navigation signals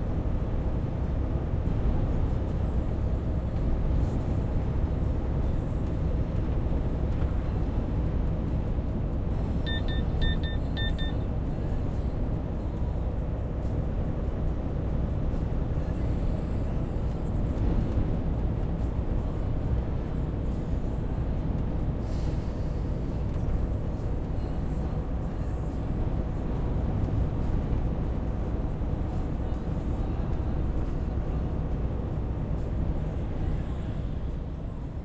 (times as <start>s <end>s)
9.7s 11.2s